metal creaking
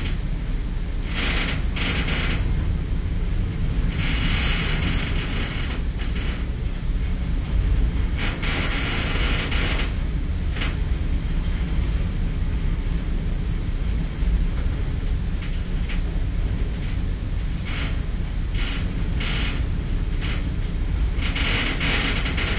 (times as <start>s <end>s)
1.1s 2.8s, 3.8s 7.2s, 7.9s 11.8s, 14.0s 22.5s